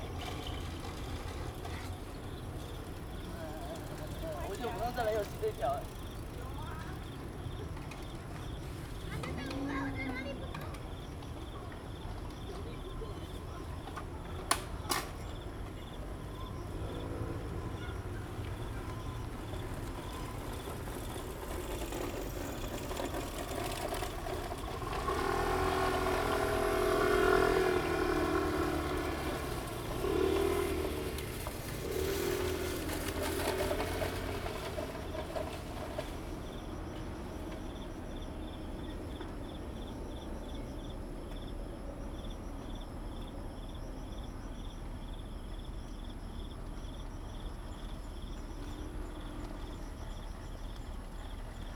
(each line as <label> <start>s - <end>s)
Bicycle sound 0.0s - 41.4s
Traffic Sound 0.0s - 51.7s
Insect sounds 0.0s - 51.7s